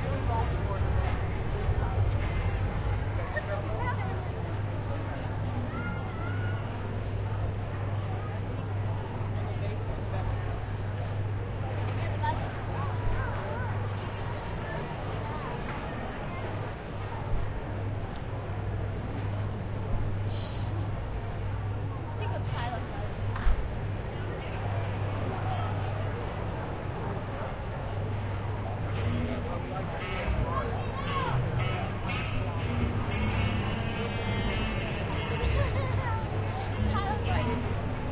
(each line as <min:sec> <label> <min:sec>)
0:00.0 chatter of the crowd 0:38.1
0:29.0 announcer's voice 0:35.8
0:35.4 two girls chatting 0:37.8